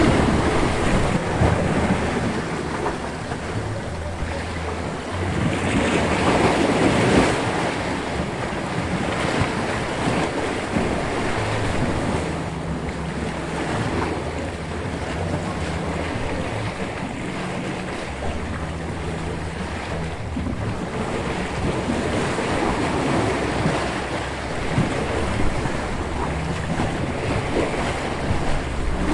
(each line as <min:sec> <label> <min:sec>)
0:00.0 Waves 0:29.1